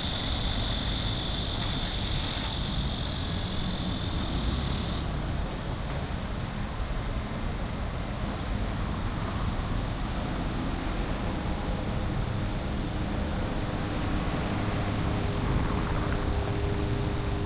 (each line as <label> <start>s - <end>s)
helicopter 0.0s - 5.0s
Cicada 0.0s - 5.2s
traffic 0.0s - 17.4s
helicopter 11.2s - 17.4s